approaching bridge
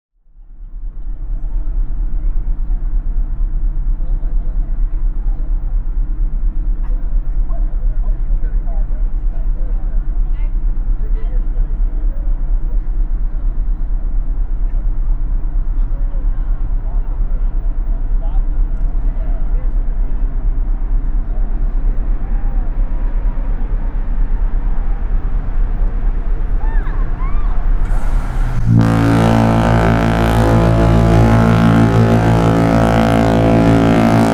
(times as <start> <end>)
7.7 34.3